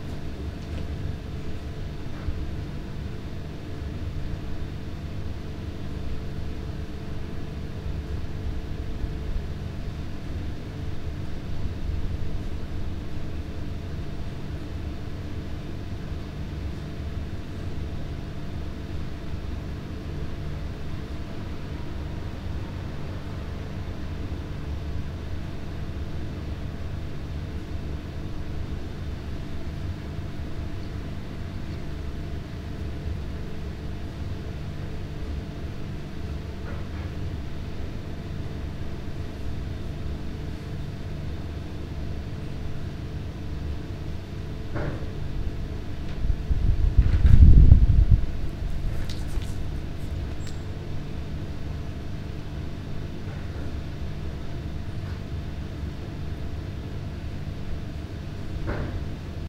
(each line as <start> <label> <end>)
48.6 handling noises 50.8